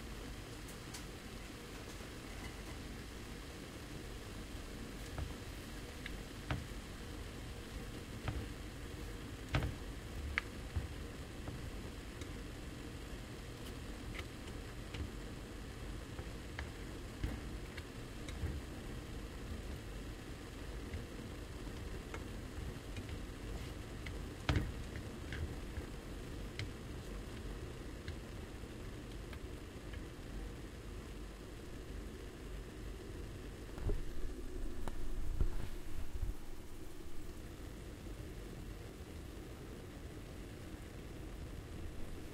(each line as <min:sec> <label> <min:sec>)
0:00.0 frying 0:33.6